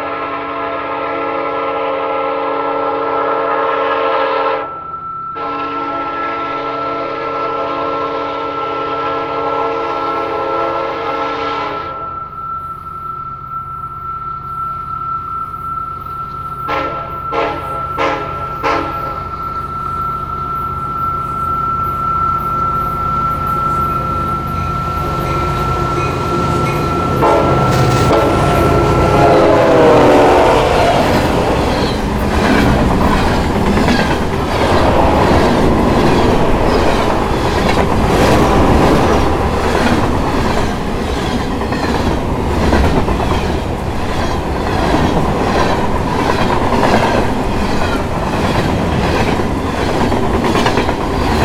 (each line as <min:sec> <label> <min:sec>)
0:00.0 Train horn 0:13.2
0:00.0 Train passing by 0:51.4
0:00.0 railway vibration 0:51.4
0:15.5 Train horn 0:33.8